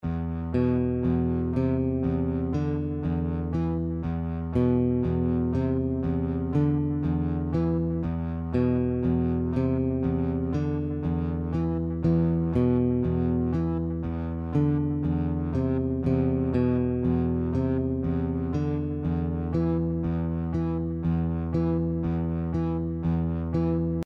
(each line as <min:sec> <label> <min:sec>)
0:00.0 bass 0:24.0